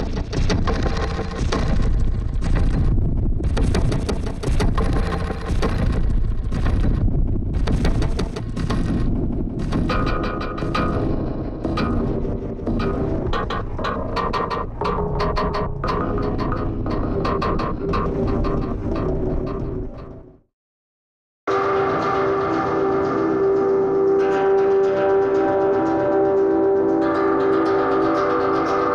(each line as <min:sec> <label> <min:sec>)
0:00.0 Drum Loop 0:20.4
0:00.6 drone 0:20.3